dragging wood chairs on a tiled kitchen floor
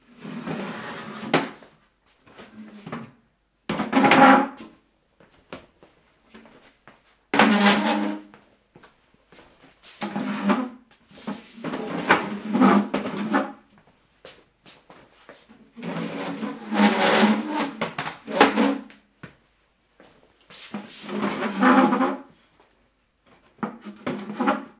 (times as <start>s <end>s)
0.0s 4.8s, 7.3s 8.4s, 9.6s 13.8s, 15.2s 19.0s, 20.5s 22.8s, 23.4s 24.7s